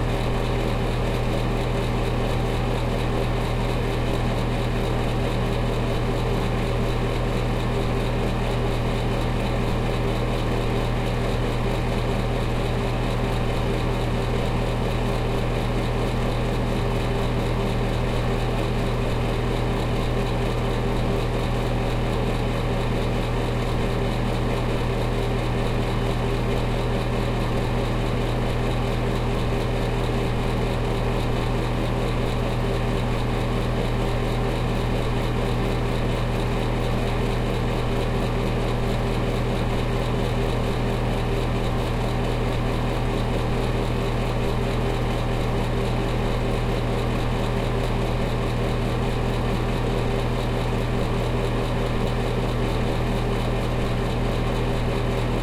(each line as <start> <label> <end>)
0.0 Roaring Bathroom Fan 55.4